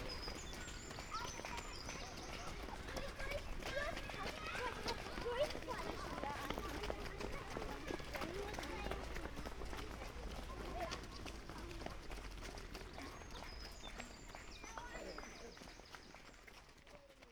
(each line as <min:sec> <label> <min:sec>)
0:00.0 flock of kids running-by 0:17.3
0:00.0 people clapping 0:17.3